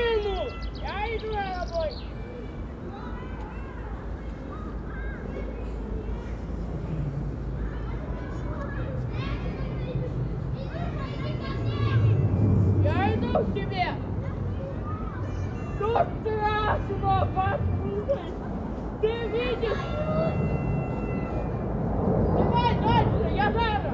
children exploring the possibilities 7.7 - 23.8

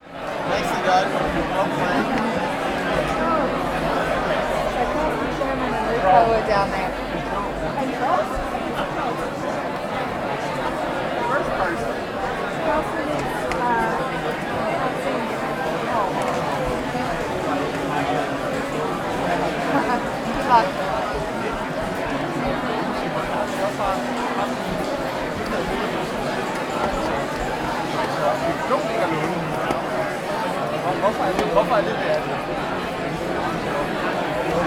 Background music 0.2 - 9.0

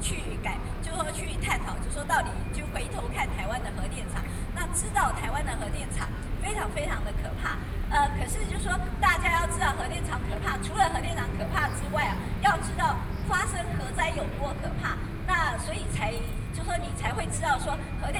speech 0.0 - 18.1

